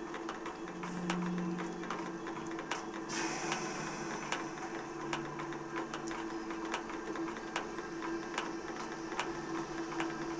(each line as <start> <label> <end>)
0.0 station announcement amplified by a station gutter drainpipe 10.3